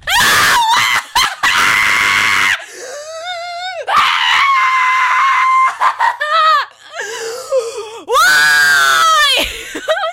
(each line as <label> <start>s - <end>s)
screaming 0.0s - 2.7s
screaming 3.4s - 6.8s
screaming 8.1s - 9.5s